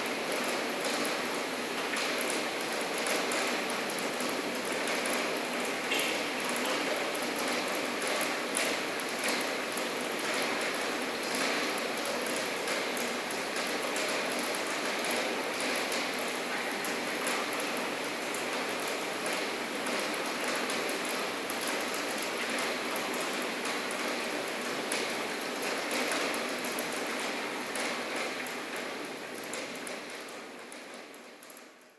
Rain 0.0 - 31.9

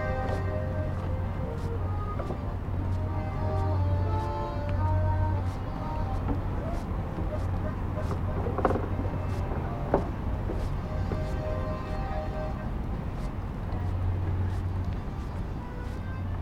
playing accordion 0.0 - 16.4

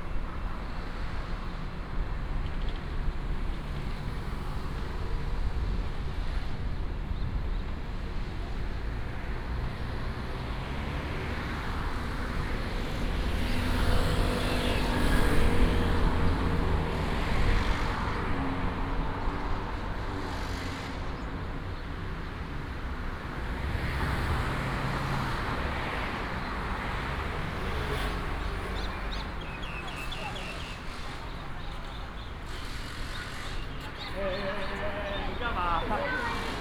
Traffic sound 0.0 - 36.6
Walking on the road 18.6 - 36.6
birds 26.2 - 36.6

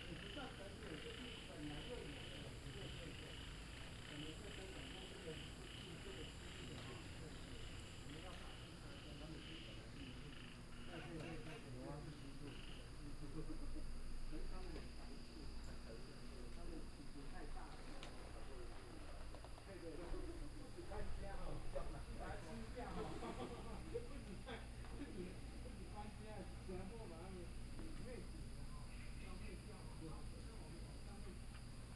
Frog calls 0.0 - 13.1

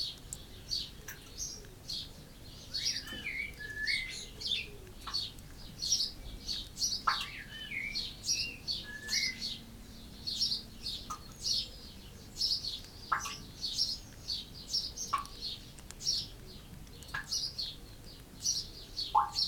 blackbird 0.0 - 19.4
house sparrow 0.3 - 19.4
collared dove 0.5 - 19.4

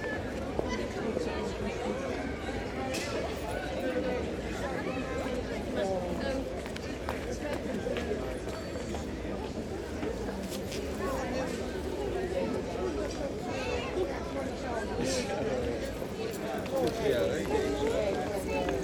pedestrians 0.0 - 18.8

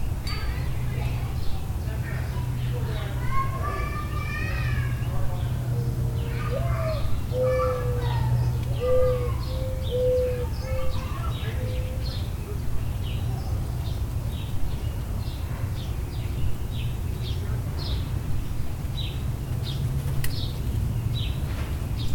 passing air and ground vehicles 0.0 - 22.1
sparrows 0.0 - 22.1
people talking 0.2 - 12.8
mourning doves 0.6 - 18.1
robins 2.2 - 12.3

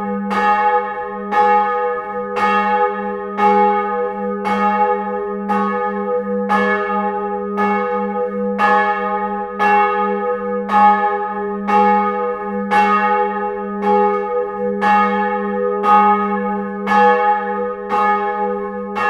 bells 0.0 - 19.0

